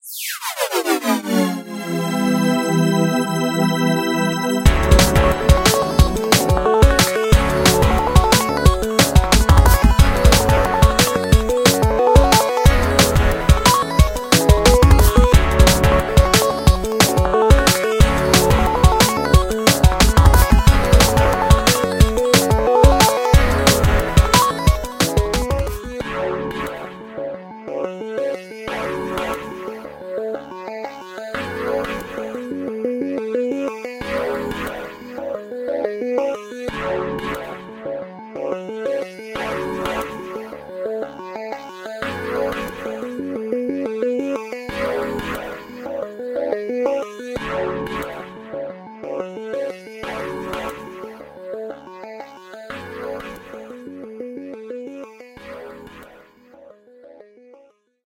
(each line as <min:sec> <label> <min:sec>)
0:00.0 Sound-logo-KOED 0:06.4